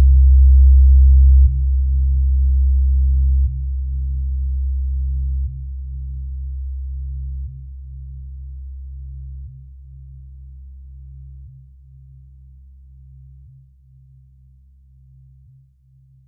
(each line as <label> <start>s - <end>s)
Bass sounds, heavily filtered 0.0s - 16.2s